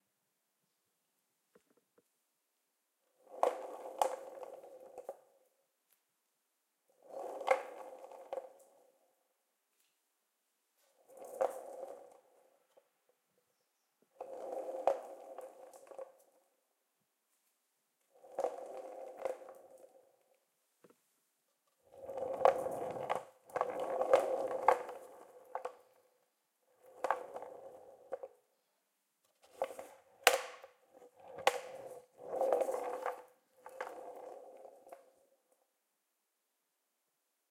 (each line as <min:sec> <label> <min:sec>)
0:03.0 Skateboard rolling on tiles 0:05.7
0:06.8 Skateboard rolling on tiles 0:10.0
0:10.8 Skateboard rolling on tiles 0:35.8